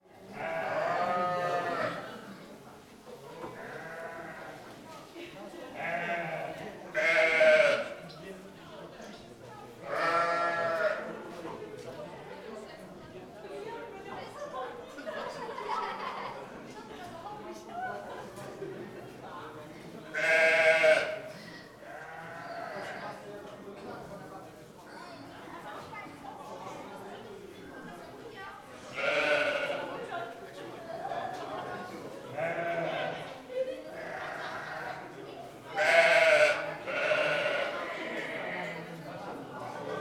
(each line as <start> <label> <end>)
0.0 visitors walk and talk 40.0
32.4 goats 35.1